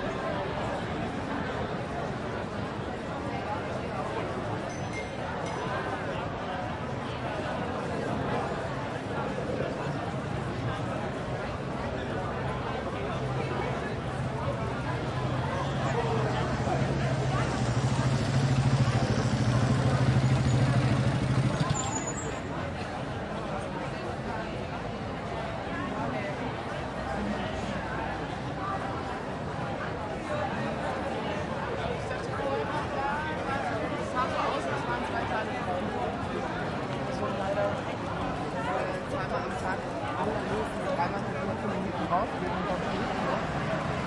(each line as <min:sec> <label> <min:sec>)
0:00.0 Street Cafe very busy 0:44.0
0:15.0 motorcycle stopping by 0:22.7